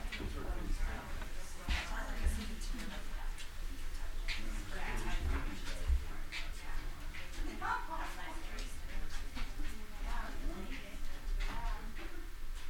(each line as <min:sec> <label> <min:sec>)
0:00.0 Group heads towards walk-in vault 0:12.6